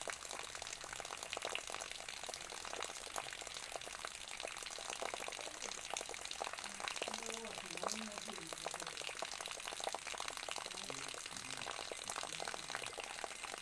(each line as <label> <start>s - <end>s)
Water drip 0.0s - 13.6s